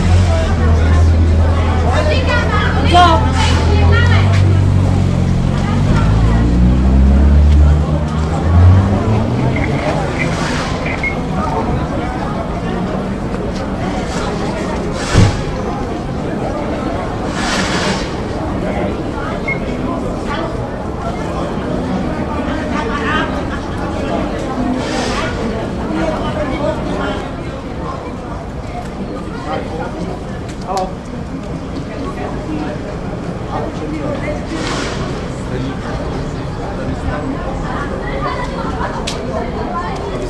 0.0s city cleaners 26.0s
0.0s sudden quarell of roma citisens 28.4s
31.5s city cleaners 38.8s

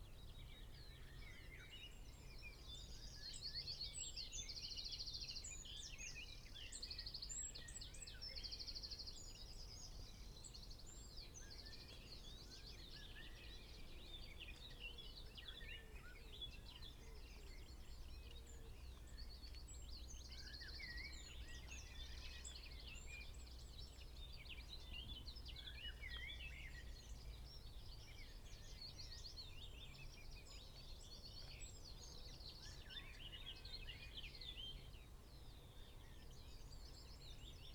7.4s willow warbler song 37.7s

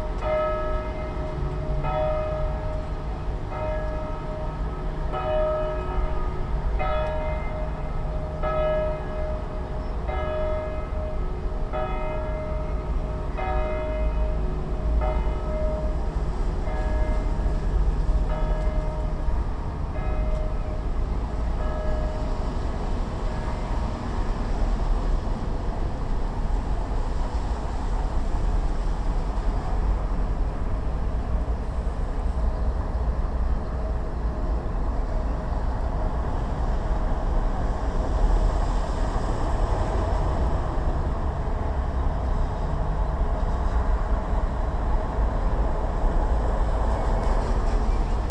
0.0s easter bells 24.3s

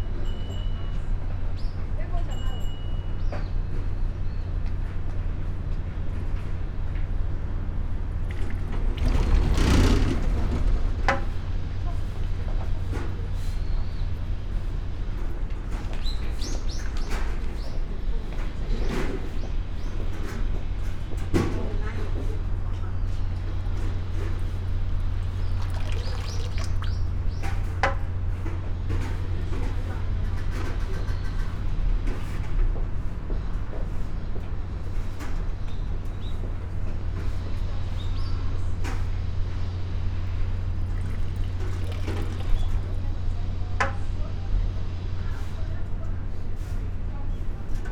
25.2s water flow 27.3s
25.3s bamboo tube 27.2s
40.6s water flow 43.2s
40.7s bamboo tube 43.0s

